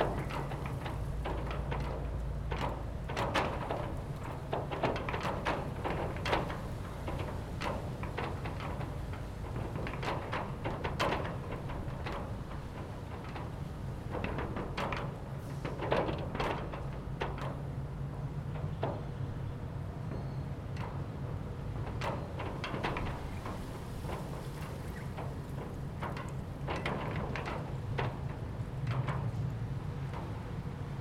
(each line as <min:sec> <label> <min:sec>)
0:00.0 Industrial Rollerdoor Rattling In The Wind 0:31.0